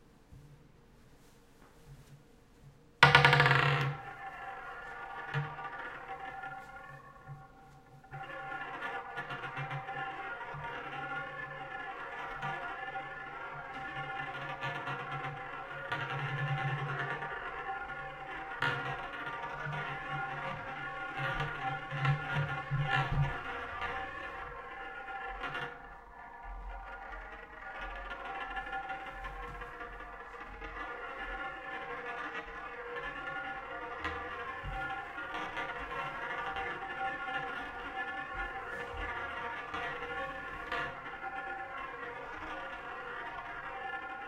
Multiple rolls 0:03.0 - 0:44.2
marble being dropped onto a hard table 0:03.0 - 0:44.2

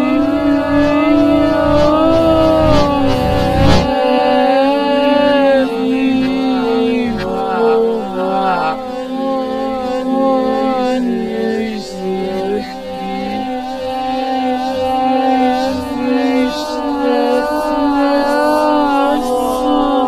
Scream 0:00.0 - 0:09.9

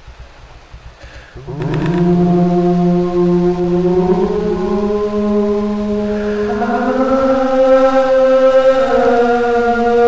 Harmonies 0:00.1 - 0:10.0

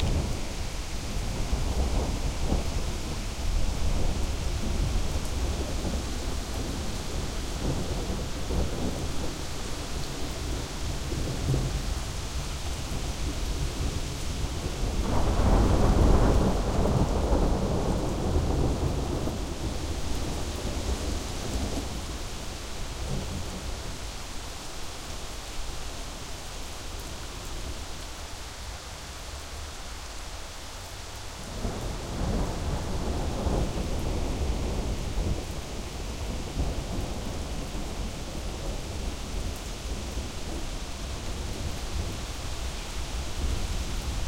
thunder 0:00.0 - 0:11.8
rain 0:00.0 - 0:44.2
thunder 0:12.9 - 0:21.9
thunder 0:31.6 - 0:40.6

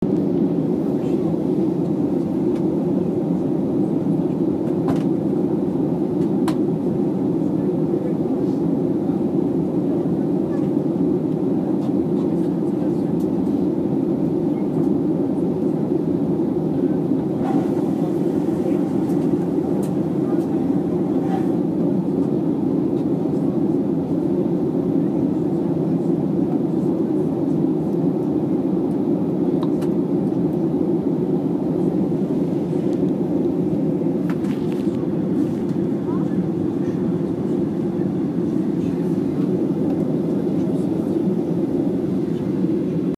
General noise in airplane 0:00.0 - 0:43.1

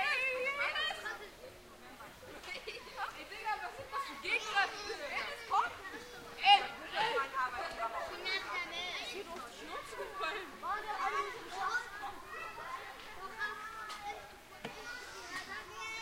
Children playing on a playground 0:00.0 - 0:16.0

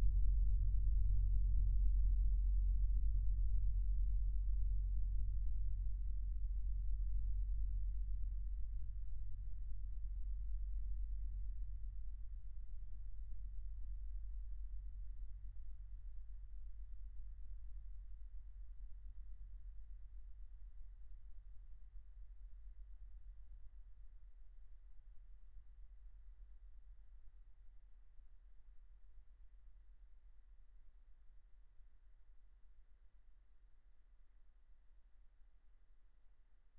Very low rumble 0:00.0 - 0:18.1

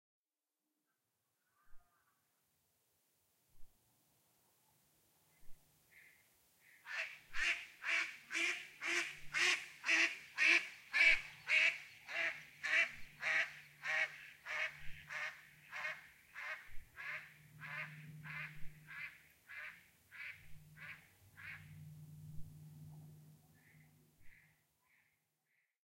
Mallard Duck quacking 0:06.9 - 0:21.8
Mallard Duck quacking and flying away 0:06.9 - 0:21.8

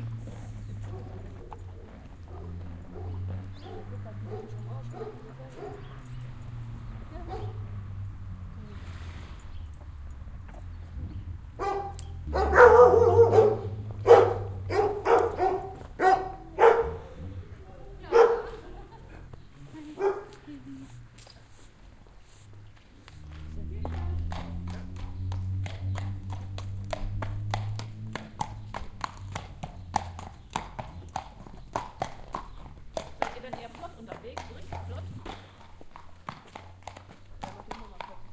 Horses 0:00.0 - 0:38.3
dogs 0:00.6 - 0:06.3
dogs 0:07.1 - 0:07.7
dogs 0:11.6 - 0:17.4
German conversation 0:16.3 - 0:21.0
dogs 0:18.0 - 0:20.5
German conversation 0:33.3 - 0:35.2

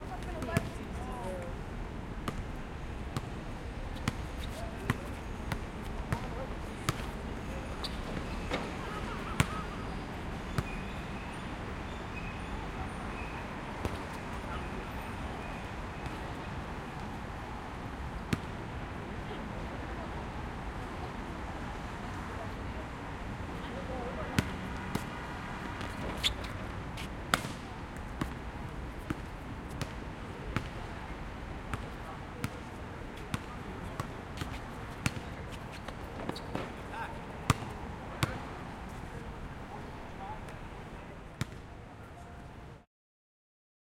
Basketball 0:02.2 - 0:02.5
Basketball 0:04.0 - 0:07.2
Basketball 0:10.5 - 0:10.9
Basketball 0:13.8 - 0:14.1
Basketball 0:24.3 - 0:27.6
Basketball 0:28.2 - 0:28.4
Basketball 0:29.0 - 0:29.9
Basketball 0:30.5 - 0:30.9
Basketball 0:31.7 - 0:36.8
Basketball 0:37.5 - 0:38.4
Basketball 0:41.4 - 0:41.6

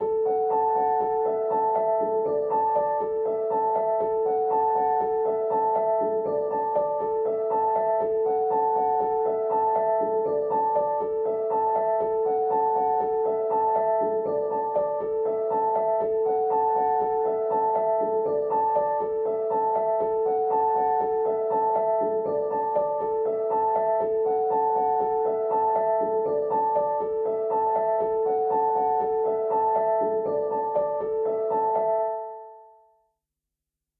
Piano 0:00.0 - 0:33.0

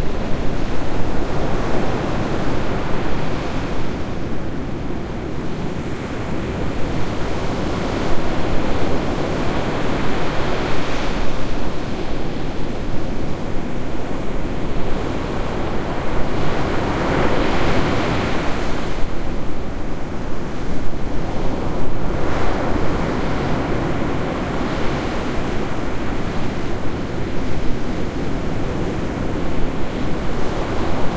sea 0:00.0 - 0:31.1
wind 0:00.0 - 0:31.1

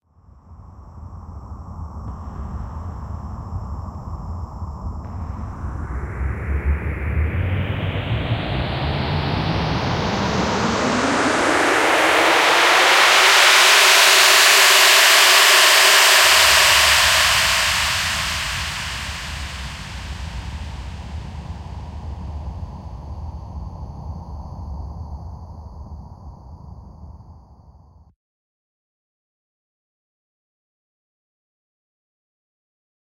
intense abrasive thrust up sound 0:02.1 - 0:23.1

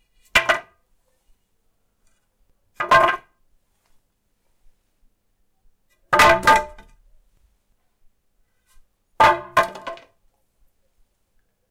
dropping a wooden batten on my driveway 0:00.3 - 0:00.8
dropping a wooden batten on my driveway 0:02.7 - 0:03.4
dropping a wooden batten on my driveway 0:06.1 - 0:07.0
dropping a wooden batten on my driveway 0:09.2 - 0:10.2

